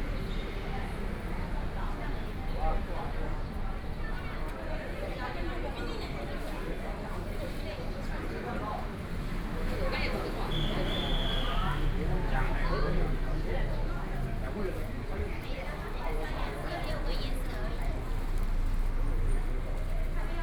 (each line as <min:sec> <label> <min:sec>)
0:06.4 Tourists 0:20.4